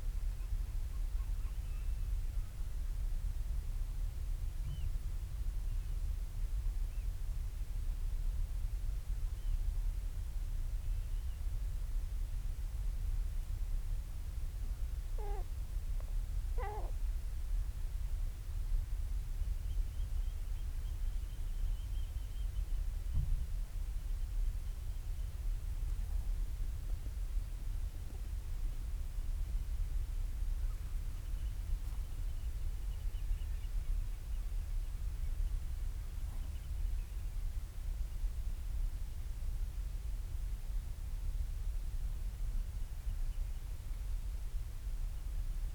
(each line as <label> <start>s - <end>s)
storm petrel calls and purrings 15.2s - 15.5s
storm petrel calls and purrings 16.6s - 17.0s